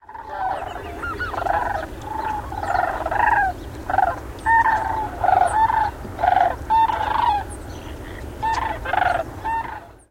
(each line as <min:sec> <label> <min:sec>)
0:00.0 sandhill cranes 0:10.0